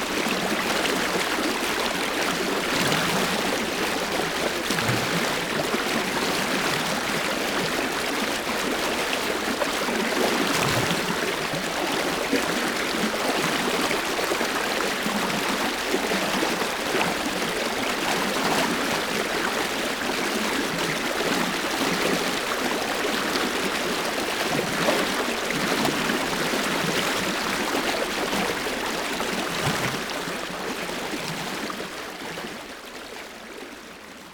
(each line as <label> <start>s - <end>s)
water, murmur 0.0s - 34.3s